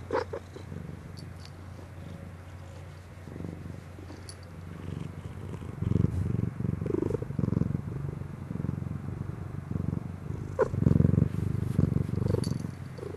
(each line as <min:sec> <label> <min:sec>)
0:00.0 purring 0:13.1